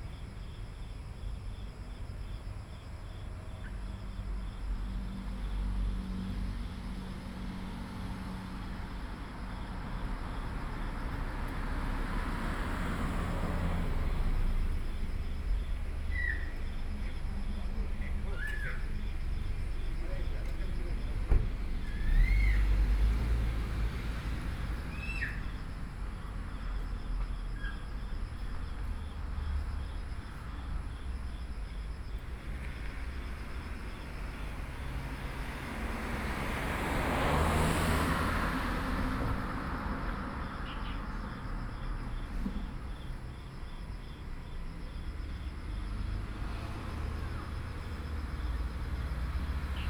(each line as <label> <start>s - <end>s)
Traffic Sound 0.0s - 49.8s
Birds 15.8s - 22.9s
Birds 24.7s - 25.7s